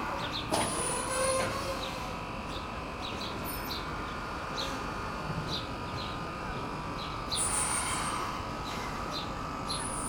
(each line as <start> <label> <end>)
0.0 wind 10.0
0.5 boat squeaking and creaking at the quai wall 2.1